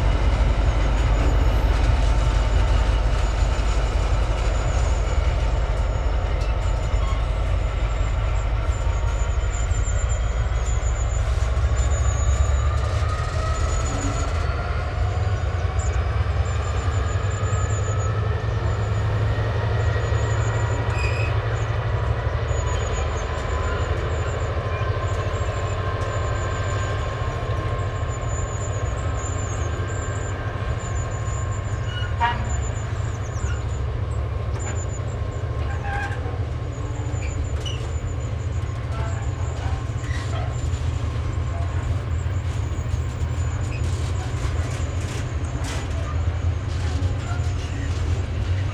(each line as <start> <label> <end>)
0.0 Freight Train 48.7